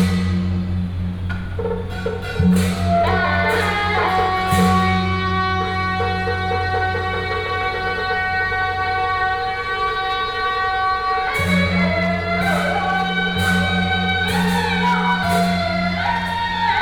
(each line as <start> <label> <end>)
0.0 Traditional temple festivals 16.8